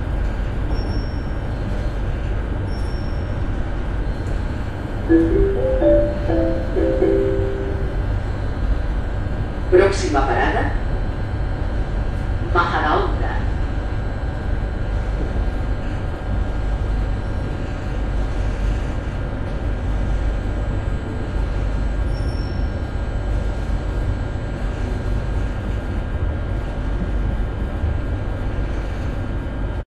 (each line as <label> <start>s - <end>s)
Train Room Tone 5.1s - 8.7s